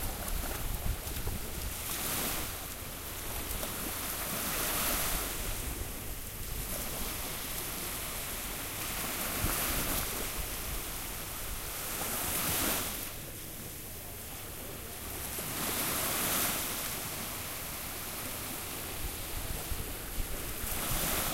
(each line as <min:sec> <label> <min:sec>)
0:00.0 waves 0:21.3
0:00.0 wind 0:21.3